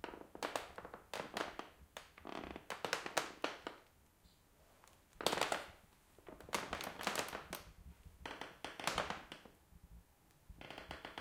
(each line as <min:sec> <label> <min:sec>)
0:02.2 Creaking Wooden Floor 0:02.8
0:08.2 Creaking Wooden Floor 0:09.5
0:10.6 Creaking Wooden Floor 0:11.2